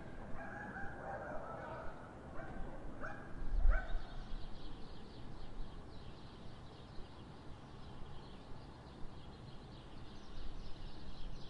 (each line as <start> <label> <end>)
0.0 birdsong 11.4
0.4 dogs barking 4.0